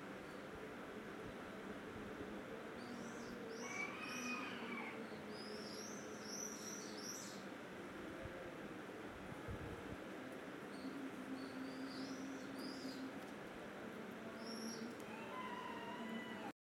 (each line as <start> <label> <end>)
2.3 Birds 7.6
10.2 Birds 16.5
14.8 chickens 16.5